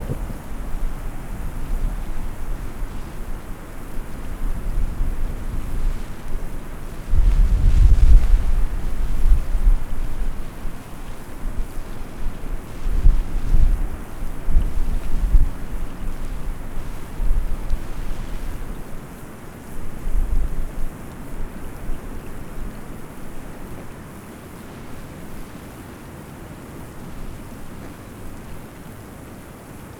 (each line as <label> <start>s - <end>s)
a lot of wind 0.0s - 29.9s
electrical lines during a heavy rainstorm 0.0s - 29.9s
heavy rainstorm 0.0s - 29.9s